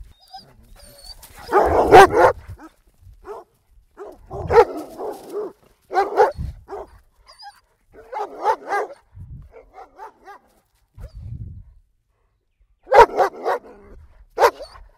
0.0s Dogs 11.1s
12.9s Dogs 14.9s

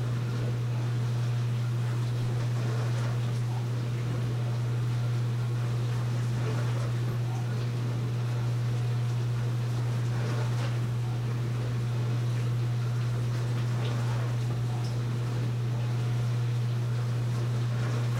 0.0s dishwasher on 18.1s

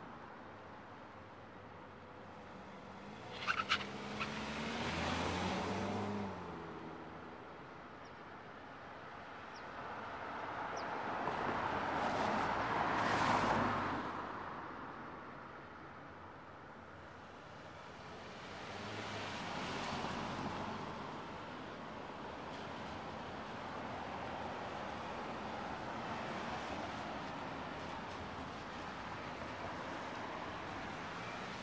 2.9s Cars Turning Right 6.4s

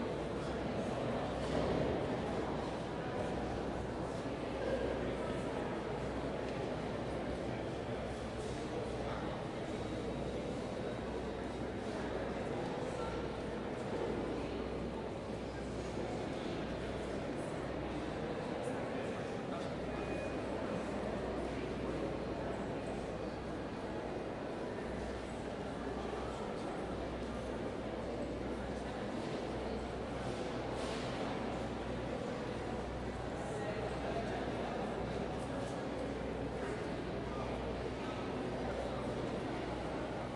0.0s crowd 40.3s

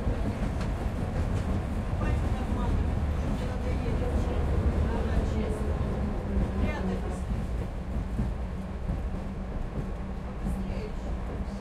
0.0s Tram rides over the bridge 11.6s

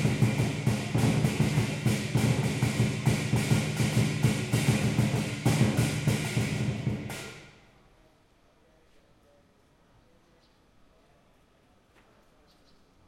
0.0s Drummers practicing on the street 7.8s

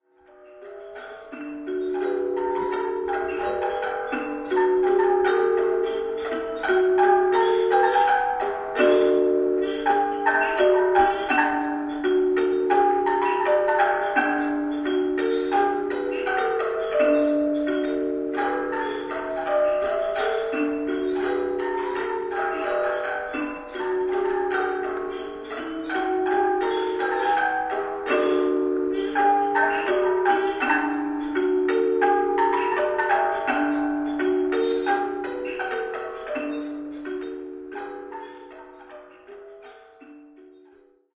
0.0s Slow music box 41.1s

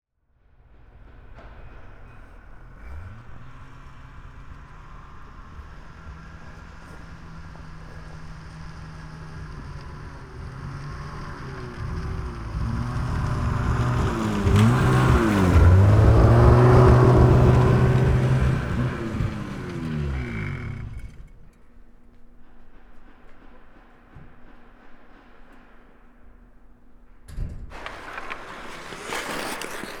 0.8s Hockey players 21.3s
27.4s Hockey players 30.0s

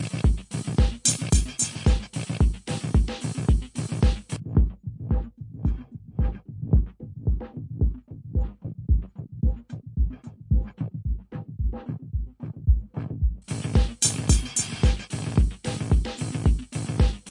0.0s drums 11.8s
12.7s drums 17.3s

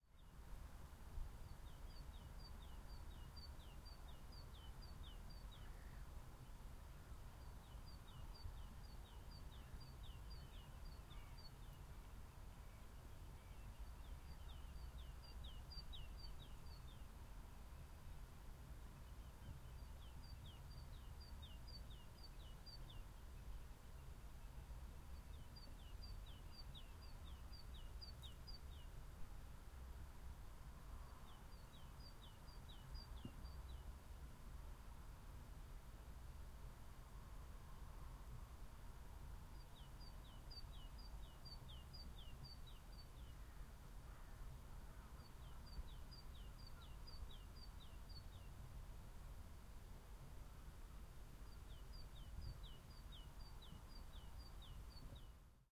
0.0s bird song 0.5s
1.2s bird song 29.1s
30.6s bird song 34.0s
39.4s bird song 48.8s
51.3s bird song 55.7s

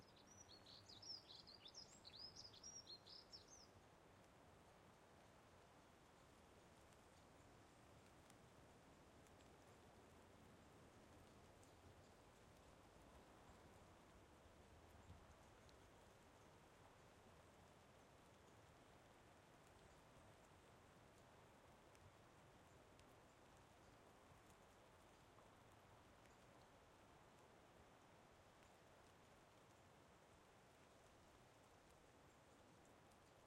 0.0s light rain 33.4s
0.0s wind 33.4s

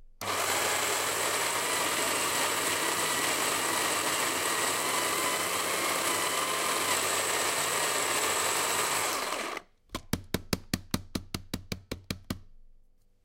0.2s electric coffee mill 9.6s

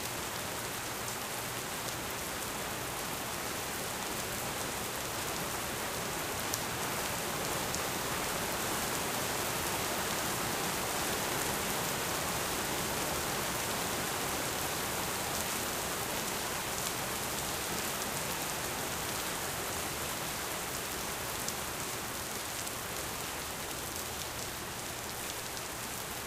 0.0s Rain 26.2s

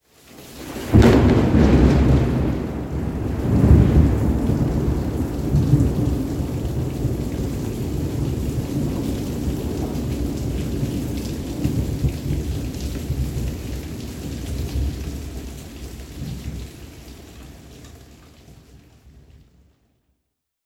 0.1s heavy rain 19.3s
0.8s loud thunder boom and rolls 15.2s

